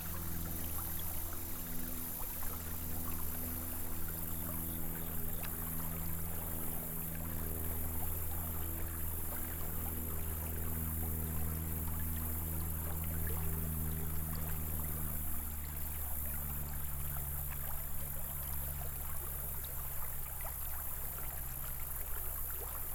Creek 0:00.0 - 0:22.9

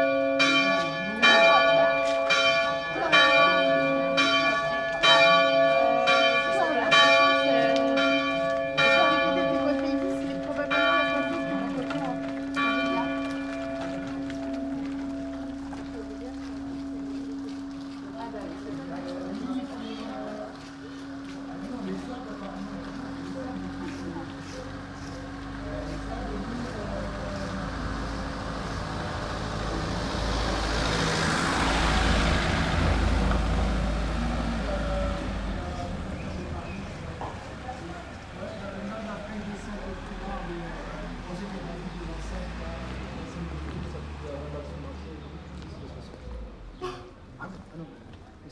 Bells at 7pm 0:00.0 - 0:24.9
People walking and talking 0:00.0 - 0:48.5

